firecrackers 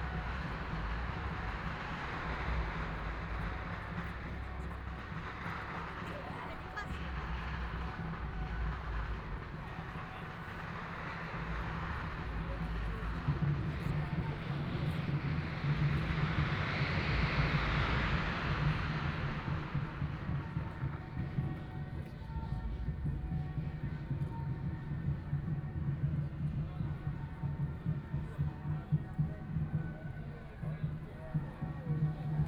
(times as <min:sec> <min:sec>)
0:00.0 0:21.5